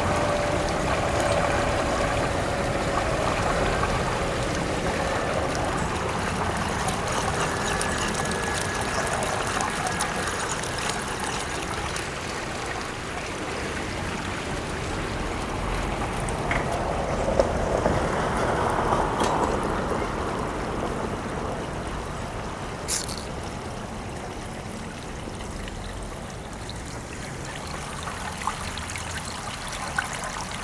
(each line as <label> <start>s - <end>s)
water droppings by the fountain 0.0s - 30.6s